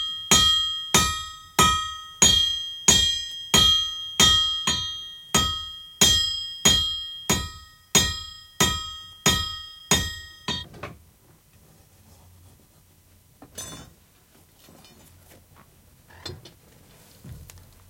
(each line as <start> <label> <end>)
0.4 blacksmith working 10.7
13.5 blacksmith working 14.0